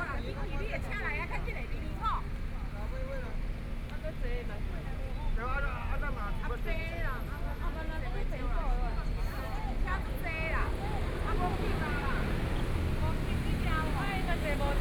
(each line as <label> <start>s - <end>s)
crowd waiting to cross the road 0.0s - 14.8s
Traffic Sound 8.6s - 14.8s